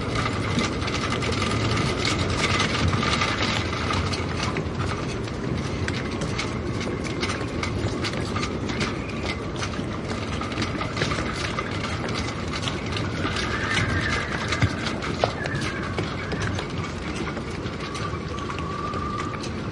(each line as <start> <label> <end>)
0.0 shrouds clattering in the wind 19.7